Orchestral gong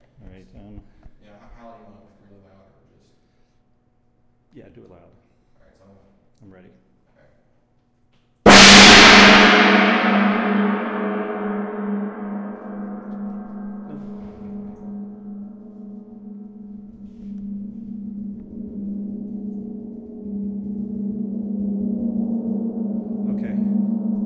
8.5s 24.2s

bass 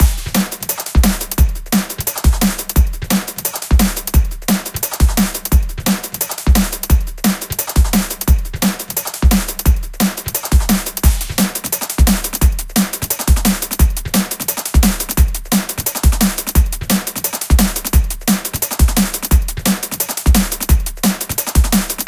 10.6s 12.7s, 20.3s 22.0s

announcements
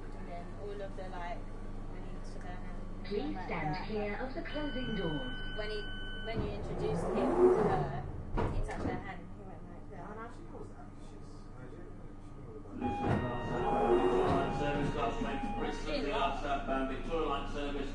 3.1s 7.9s, 12.8s 17.3s

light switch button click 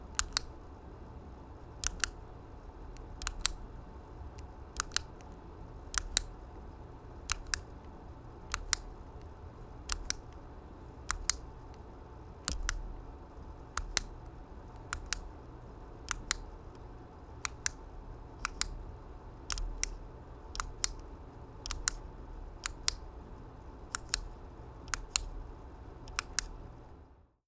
0.2s 0.5s, 1.8s 2.2s, 3.0s 3.6s, 4.4s 6.3s, 7.3s 7.7s, 8.5s 9.3s, 9.9s 10.4s, 11.1s 11.5s, 12.5s 13.0s, 13.8s 15.3s, 16.1s 16.5s, 17.4s 17.8s, 18.4s 18.8s, 19.5s 20.0s, 20.6s 22.0s, 22.6s 23.1s, 23.9s 25.4s, 26.1s 26.6s

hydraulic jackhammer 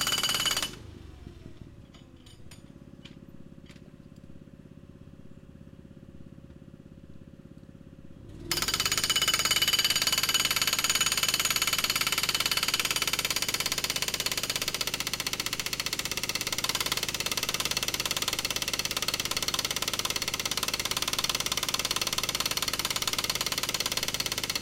0.0s 0.8s, 8.3s 24.6s

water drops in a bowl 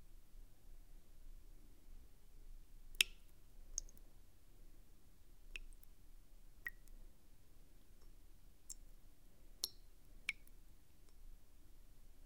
3.0s 4.0s, 5.6s 5.9s, 6.7s 6.9s, 9.6s 10.5s

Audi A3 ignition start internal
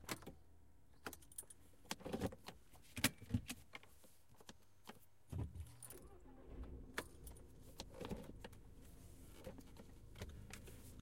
5.7s 8.6s

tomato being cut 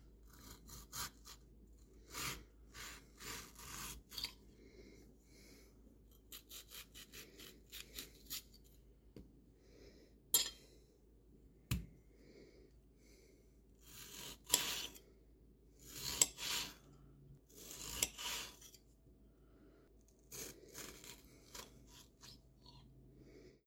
2.0s 4.4s, 6.2s 8.6s, 13.9s 15.0s

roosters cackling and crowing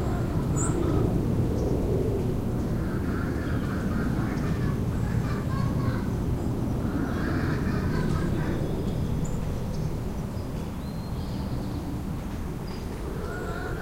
12.9s 13.8s

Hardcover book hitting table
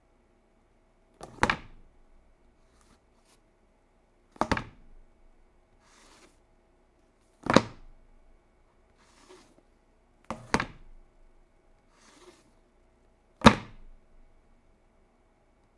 1.2s 1.8s, 4.4s 4.9s, 7.4s 7.9s, 10.3s 11.0s, 13.4s 14.0s

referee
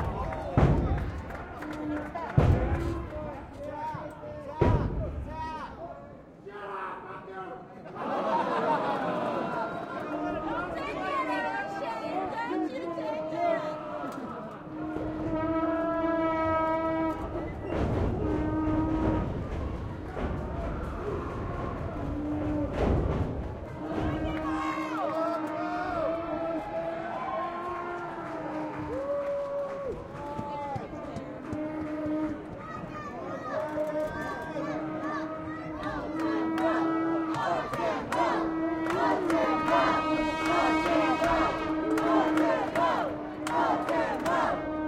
23.7s 44.8s

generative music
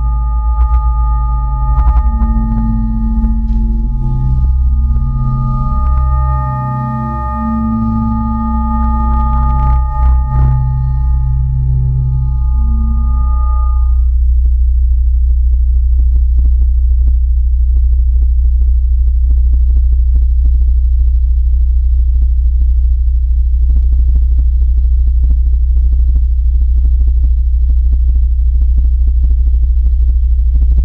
0.0s 14.1s

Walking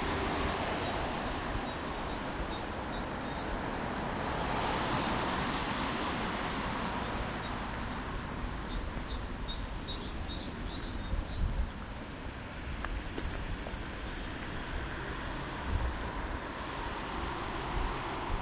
10.4s 16.4s

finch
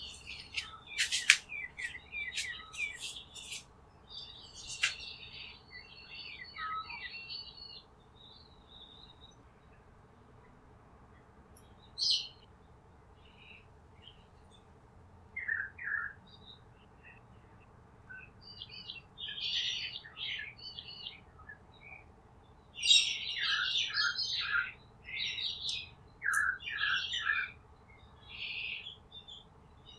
0.0s 3.6s, 4.5s 5.2s

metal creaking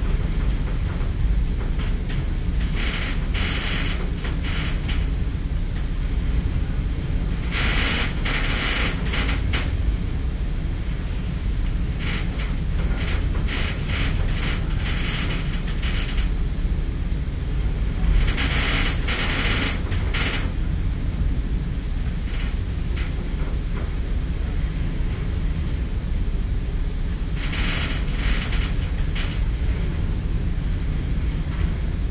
0.0s 5.2s, 7.4s 10.0s, 11.6s 16.4s, 17.8s 20.7s, 27.3s 30.1s

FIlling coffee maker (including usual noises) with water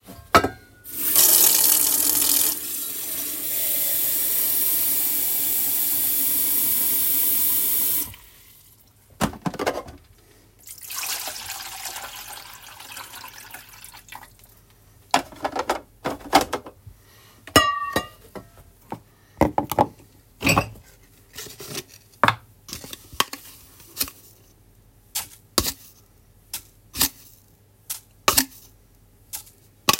0.9s 8.9s, 10.6s 14.6s

